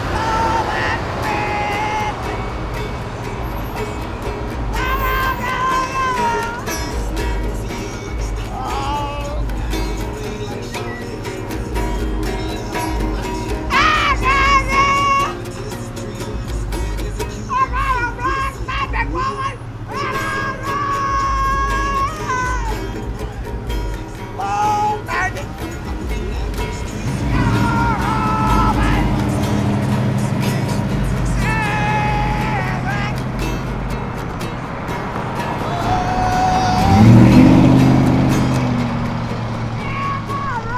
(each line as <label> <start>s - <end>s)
wailing outsider 0.0s - 40.7s